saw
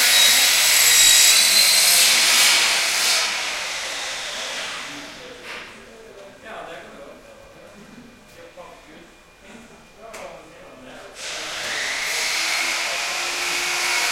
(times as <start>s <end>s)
0.0s 5.4s, 11.2s 14.1s